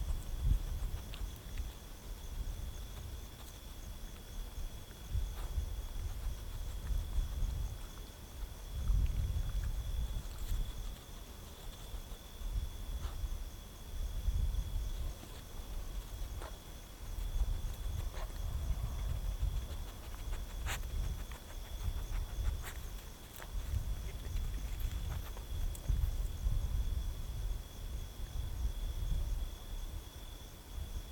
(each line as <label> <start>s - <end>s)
eventual dog 0.0s - 13.3s
eventual dog 15.0s - 26.3s